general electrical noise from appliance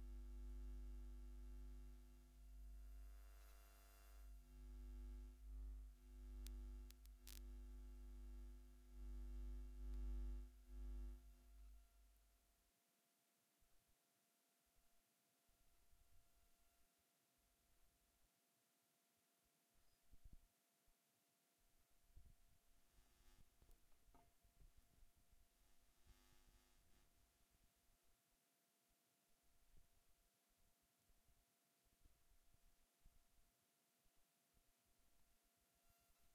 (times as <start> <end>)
2.5 11.1